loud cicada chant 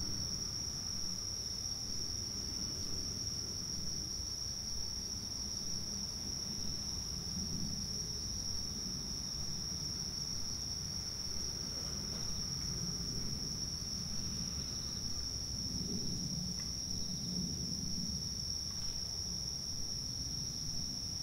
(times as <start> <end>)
4.3 21.2